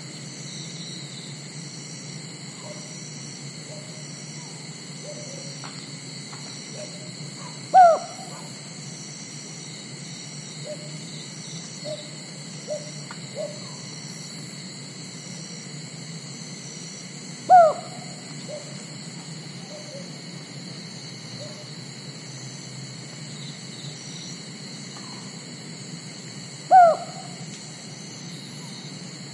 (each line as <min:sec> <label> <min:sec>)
0:00.0 cicadas 0:29.3
0:03.7 unknown bird (seems like cuckoo) 0:05.5
0:06.7 unknown bird (seems like cuckoo) 0:08.5
0:12.7 unknown bird (seems like cuckoo) 0:13.9
0:17.5 unknown bird (seems like cuckoo) 0:18.8
0:19.6 unknown bird (seems like cuckoo) 0:20.1
0:26.7 unknown bird (seems like cuckoo) 0:27.4